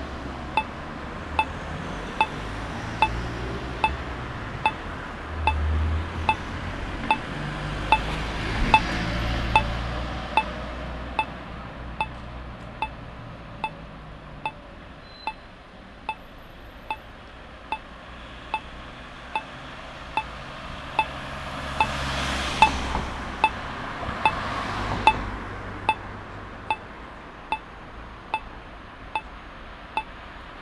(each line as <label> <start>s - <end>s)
red light regulates the traffic for blind people 0.4s - 12.2s
red light regulates the traffic for blind people 18.5s - 24.4s